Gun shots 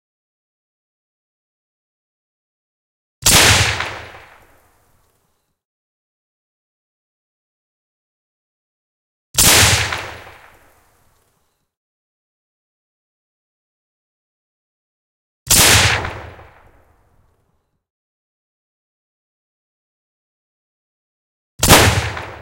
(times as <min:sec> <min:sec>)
0:03.2 0:04.6, 0:09.4 0:10.7, 0:15.5 0:16.9, 0:21.6 0:22.4